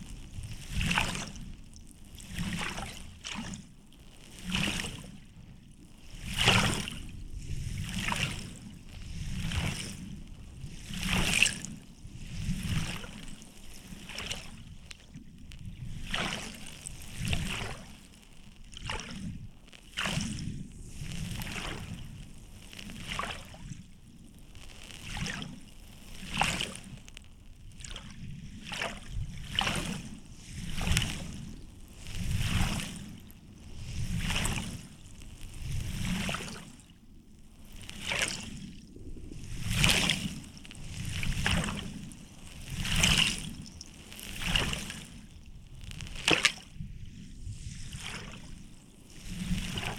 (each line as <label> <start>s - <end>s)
windy day 5.2s - 14.1s
windy day 19.2s - 25.0s
windy day 25.6s - 49.9s